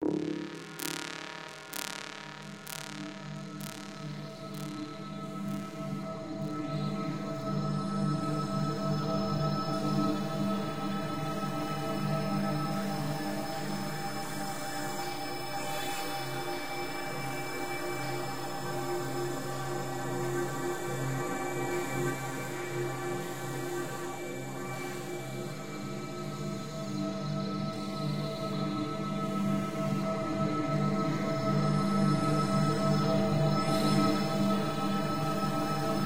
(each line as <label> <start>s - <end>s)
synth 0.0s - 5.7s